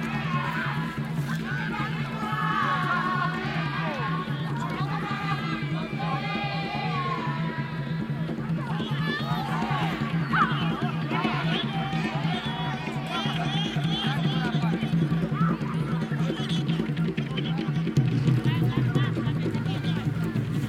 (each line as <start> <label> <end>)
0.0 drummers 20.6
19.6 young people in intense movement 20.6